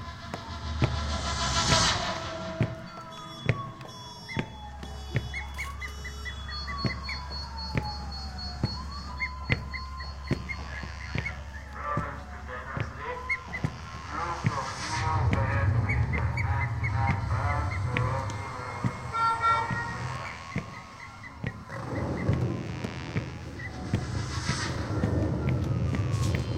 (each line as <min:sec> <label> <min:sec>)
0:00.0 rain increases 0:03.7
0:02.6 Foot step sounds 0:26.5
0:14.0 robotic voice says welcome home 0:20.4